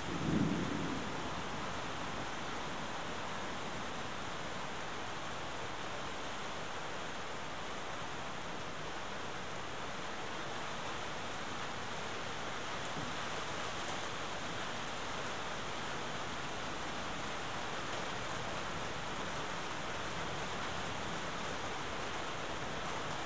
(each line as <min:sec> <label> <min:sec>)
0:00.0 thunder shower 0:02.3